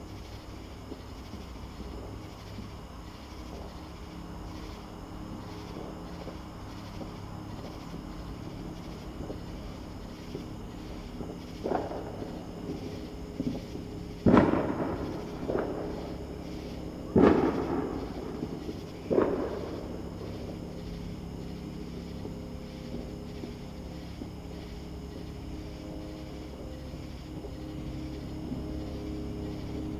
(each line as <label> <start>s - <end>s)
fireworks 0.0s - 29.9s